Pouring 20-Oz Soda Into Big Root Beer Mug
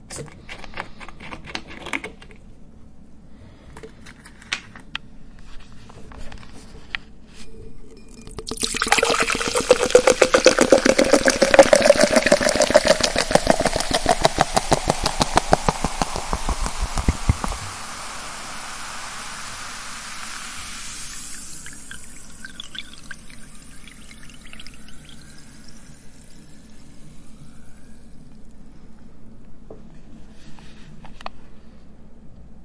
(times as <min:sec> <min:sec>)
0:08.3 0:26.7